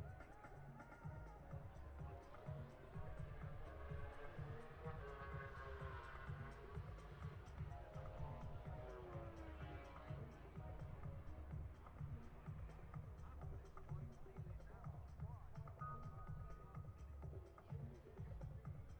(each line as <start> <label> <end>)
0.0 disco 18.9